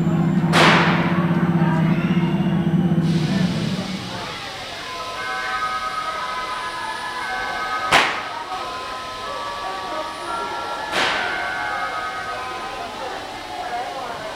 locomotive passing by 0.0 - 14.3
train arrives 0.0 - 14.3
signals 1.1 - 14.3
firecrackers 7.9 - 8.3

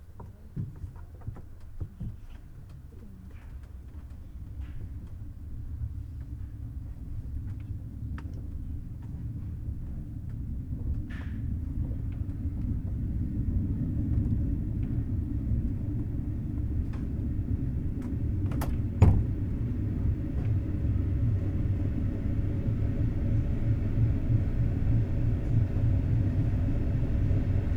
Regional train arriving and departing 4.3 - 27.7
people embarking 14.3 - 20.7

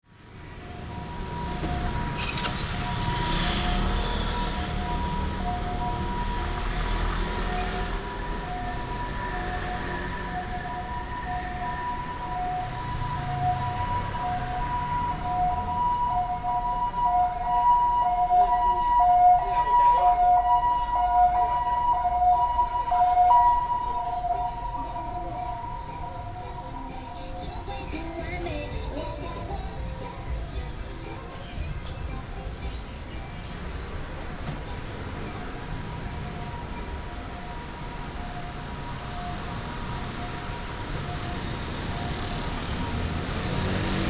Traffic sound 0.0 - 44.0
walking in the Street 0.0 - 44.0

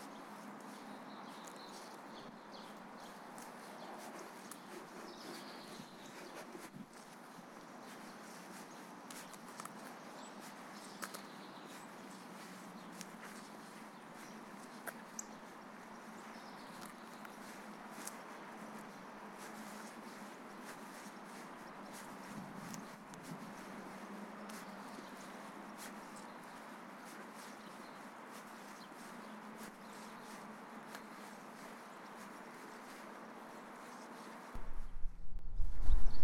chirping of birds 0.0 - 23.0
dogs walking 0.6 - 15.3
chirping of birds 23.6 - 34.4
small amount of wind seepage 27.8 - 36.2

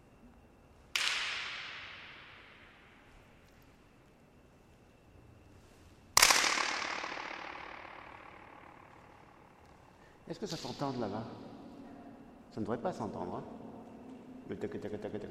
hands clapings 0.9 - 1.9
floating echoe 6.2 - 15.3

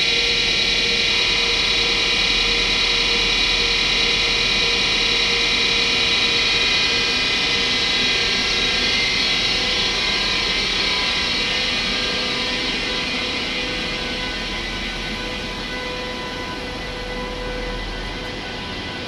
train slowly moves away 0.0 - 19.0

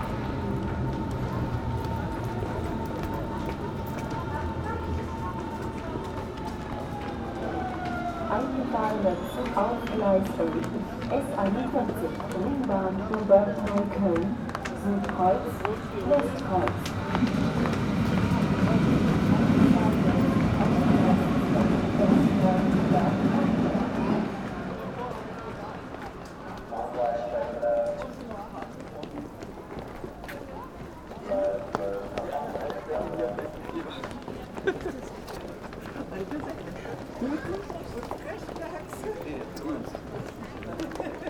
steps on stairs 27.9 - 41.2

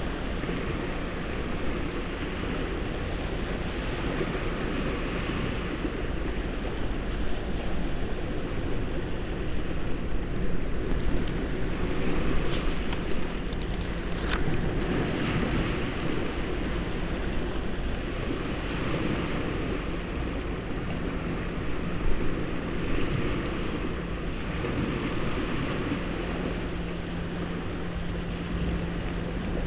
sea waves 0.0 - 29.6
crustaceans 9.4 - 20.4
book leaves 12.4 - 14.6

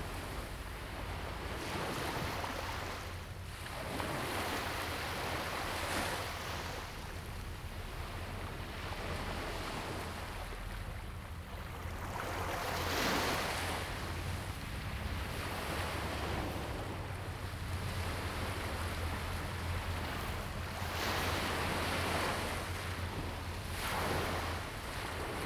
waves 0.0 - 25.4

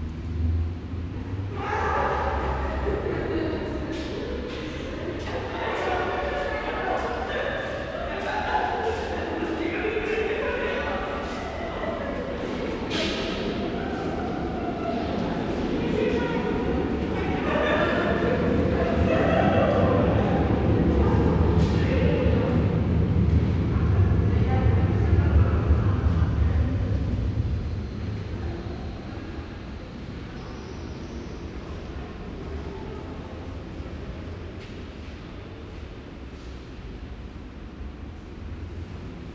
people 0.8 - 39.3

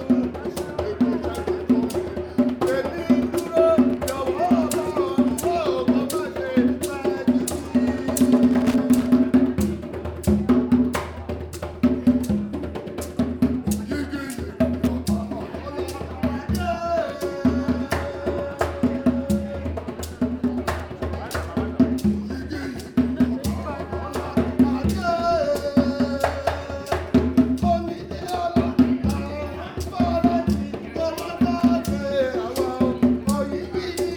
Yoruba praise song 0.0 - 34.1

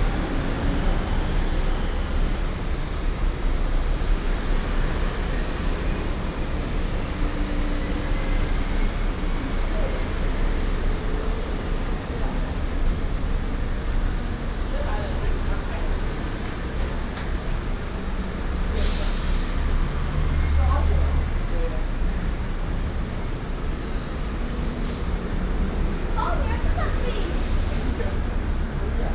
Traffic Sound 0.0 - 29.1

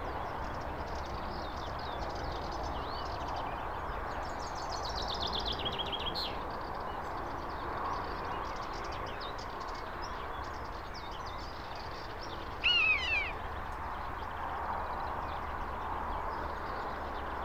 birds at highway 0.0 - 17.4

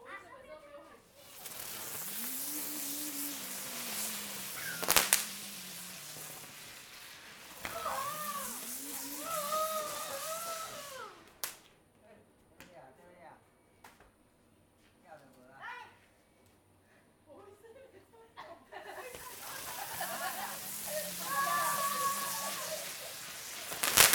Kids playing firecrackers 1.1 - 11.8
firecrackers 1.1 - 11.8
Kids playing firecrackers 18.9 - 24.1
firecrackers 18.9 - 24.1

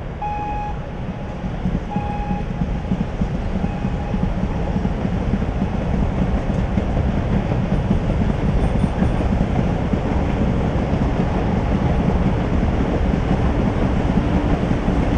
passing deavy duty coal train 0.0 - 15.1
signal 0.2 - 0.8
signal 1.9 - 2.5

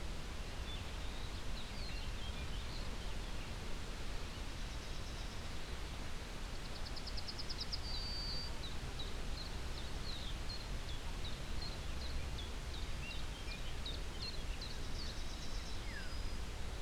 mellow wind crossing the downhill fields 0.0 - 16.8

